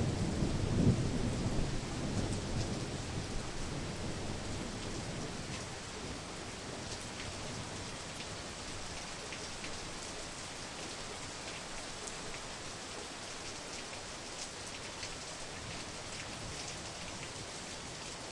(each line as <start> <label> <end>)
0.0 thunder storm 5.5